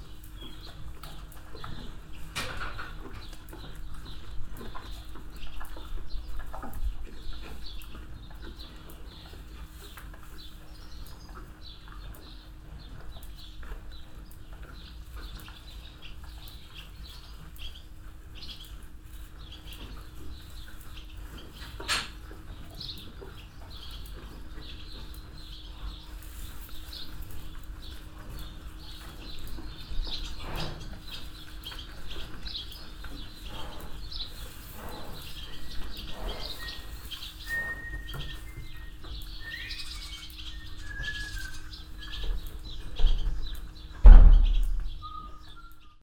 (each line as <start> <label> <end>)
0.0 animals moving in their boxes 45.9
0.0 swallows inside the shed 46.0
36.6 whisteling boy crossing the yard 42.2
45.0 whisteling boy crossing the yard 46.0